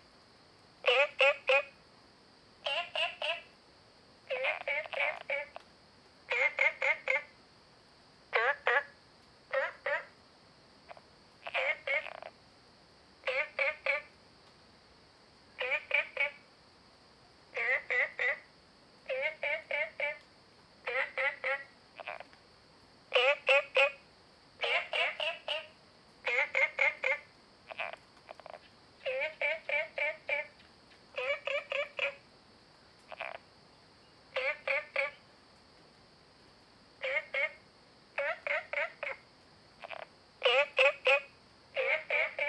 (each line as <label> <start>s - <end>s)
Frogs chirping 0.8s - 1.8s
Frogs chirping 2.6s - 3.5s
Frogs chirping 4.3s - 5.7s
Frogs chirping 6.3s - 7.4s
Frogs chirping 8.3s - 10.2s
Frogs chirping 10.9s - 12.4s
Frogs chirping 13.2s - 14.2s
Frogs chirping 15.6s - 16.5s
Frogs chirping 17.5s - 22.4s
Frogs chirping 23.1s - 32.3s
Frogs chirping 33.0s - 35.3s
Frogs chirping 37.0s - 42.4s